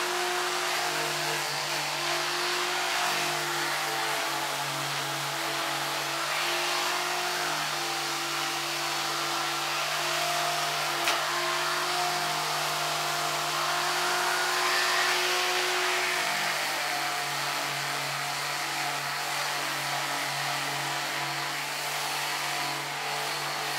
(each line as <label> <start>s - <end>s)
Electric Sander start/stop and sanding at a medium speeds 0.0s - 23.7s